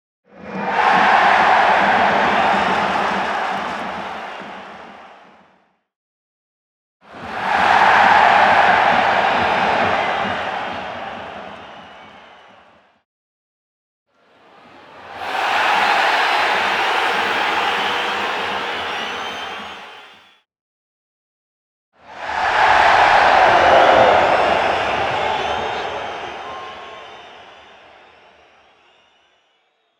crowd roars with energy 0:00.4 - 0:05.4
crowd roars with energy 0:07.1 - 0:12.7
crowd roars with energy 0:14.8 - 0:20.4
crowd roars with energy 0:22.0 - 0:29.0

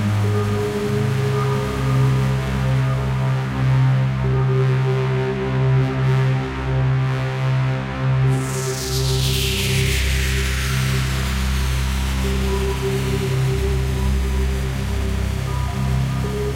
drone 0:00.0 - 0:16.5

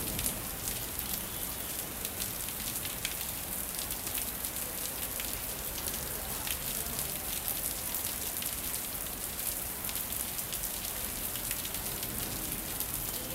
rain 0:00.0 - 0:13.3
wind 0:00.0 - 0:13.3

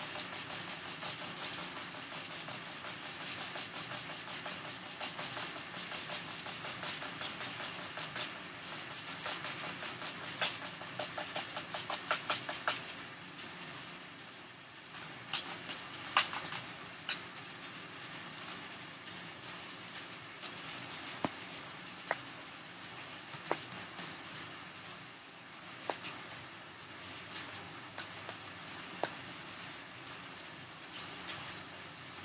fan hit and spin a pinwheel 0:00.0 - 0:13.8

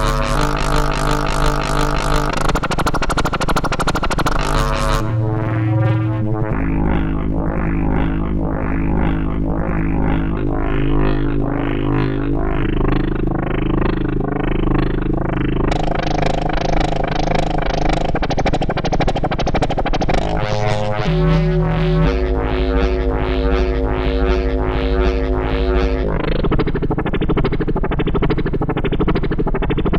Drone sound 0:00.0 - 0:02.4
Drone sound 0:04.5 - 0:18.4
Drone sound 0:19.8 - 0:27.2

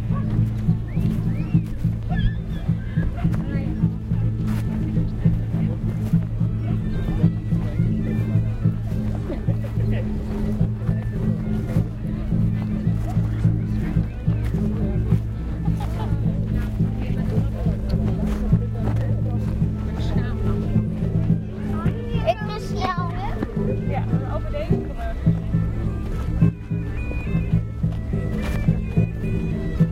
chatter from bypassers 0:00.0 - 0:29.9
musicians walked around the market, while playing 0:00.0 - 0:29.9

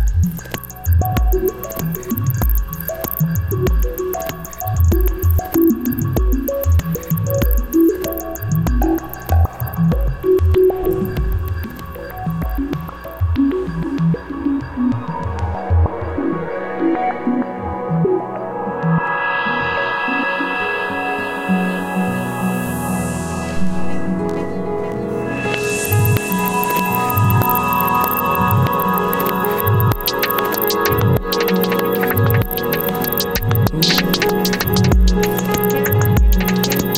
Bubbly Experimental Beat 0:00.0 - 0:16.3
Bubbly Experimental Beat 0:25.5 - 0:36.9

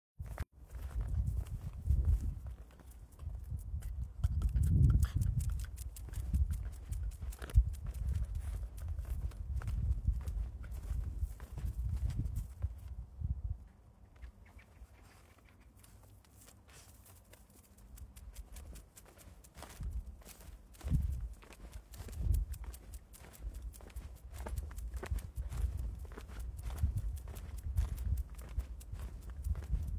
Walking man 0:13.6 - 0:29.9
birds 0:14.0 - 0:15.8

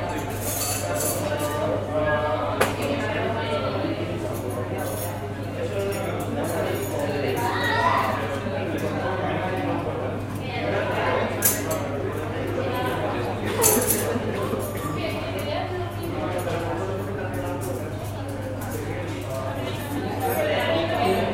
people 0:00.0 - 0:21.3

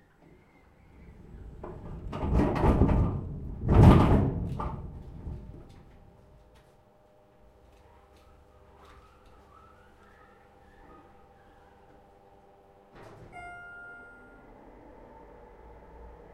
moving of shelves 0:00.2 - 0:06.2
elevator sound 0:12.9 - 0:16.3

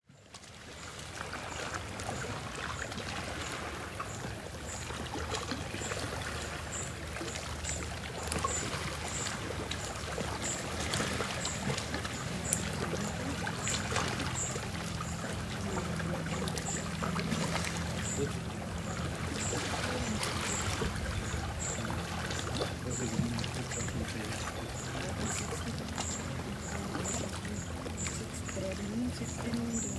Boats Engines 0:00.0 - 0:29.9
Waves Lapping 0:00.0 - 0:29.9
Birds 0:00.2 - 0:29.9
Distant People 0:01.5 - 0:29.9

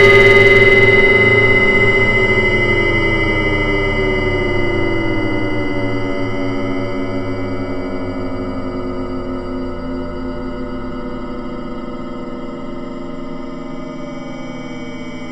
bell 0:00.0 - 0:07.6

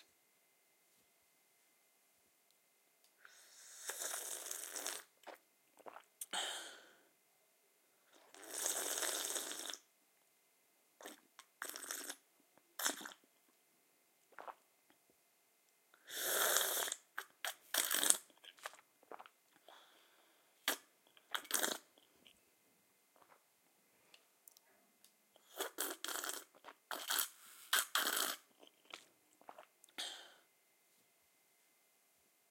Slurping of water in cup 0:03.7 - 0:06.1
breathing 0:06.3 - 0:07.1
Slurping of water in cup 0:08.2 - 0:09.8
Slurping of water in cup 0:11.0 - 0:12.2
Slurping of water in cup 0:12.8 - 0:13.2
Slurping of water in cup 0:14.3 - 0:14.6
Slurping of water in cup 0:16.1 - 0:19.8
breathing 0:19.6 - 0:20.6
Slurping of water in cup 0:20.6 - 0:21.9
Slurping of water in cup 0:25.4 - 0:29.7
breathing 0:30.0 - 0:30.5

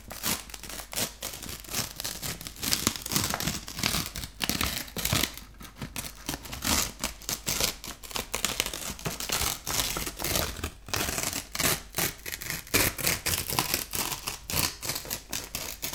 Ripping Paper 0:00.0 - 0:15.9

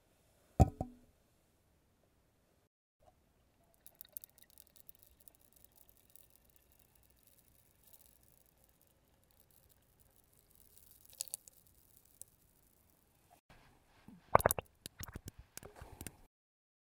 oil 0:03.5 - 0:13.0

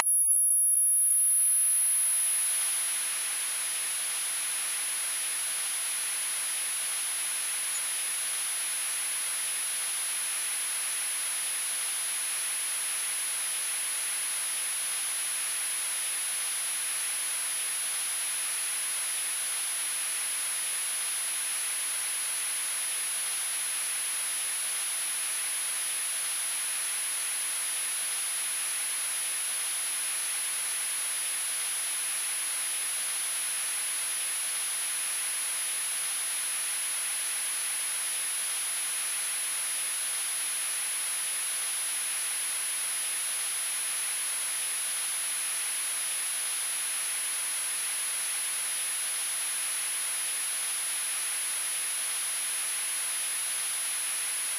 static of turning on a TV 0:00.0 - 0:00.2
electronic squeal of energized circuitry 0:00.0 - 0:02.8

